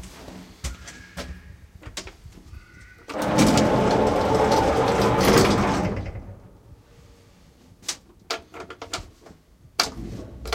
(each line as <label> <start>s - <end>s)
An elevator trip 3.0s - 7.2s
doors opens 3.1s - 6.6s